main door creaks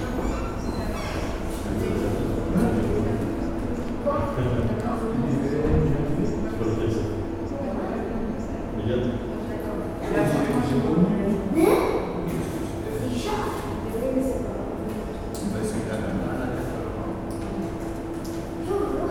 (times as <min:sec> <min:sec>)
0:00.0 0:01.5